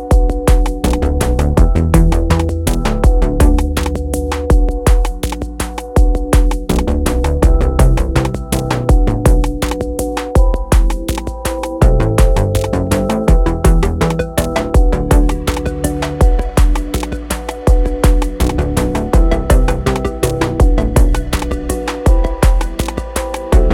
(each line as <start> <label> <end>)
0.0 Snappy beat 23.7
0.0 catchy melody 23.7